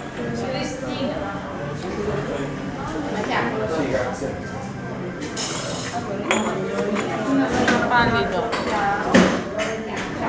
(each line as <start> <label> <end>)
0.0 guests at the desk 9.6